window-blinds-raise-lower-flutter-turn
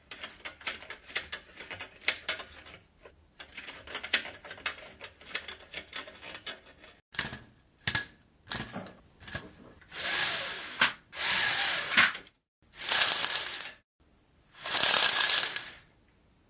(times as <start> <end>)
14.6 15.8